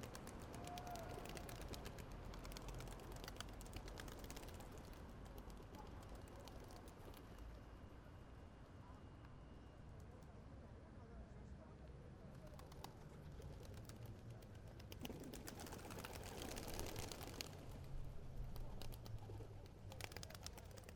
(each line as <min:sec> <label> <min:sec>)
0:00.0 Pigeons Invasion 0:04.9
0:18.7 Pigeons Invasion 0:20.9